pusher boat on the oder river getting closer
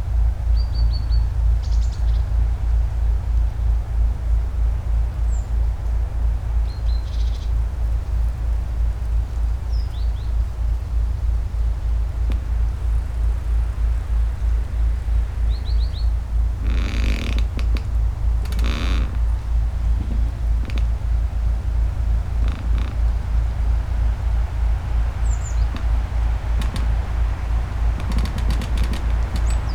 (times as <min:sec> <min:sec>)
0:07.4 0:29.7